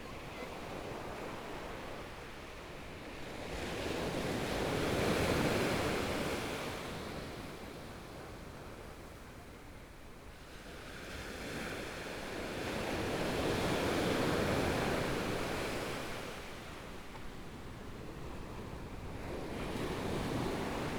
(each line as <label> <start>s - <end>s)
waves 10.6s - 20.9s